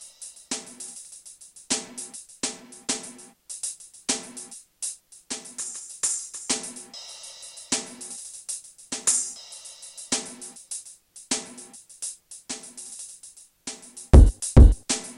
14.2s drum 15.1s

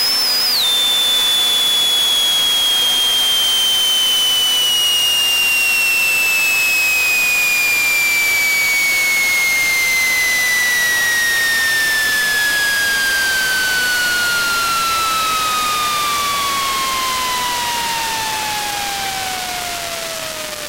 0.0s static 20.6s

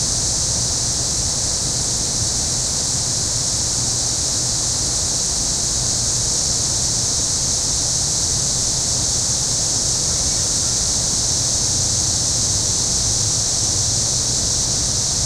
0.0s insects in the trees 15.2s

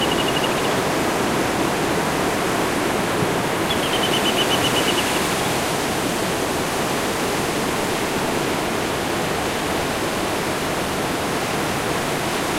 0.0s bird 1.0s
0.0s Sea shore 12.5s
3.6s bird 5.5s

